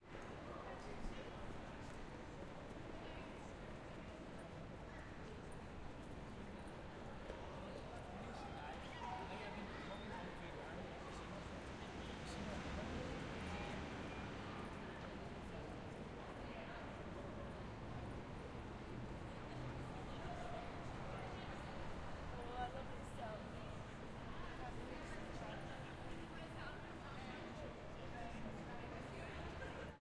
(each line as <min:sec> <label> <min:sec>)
0:06.4 traffic 0:30.0
0:06.4 walla 0:30.0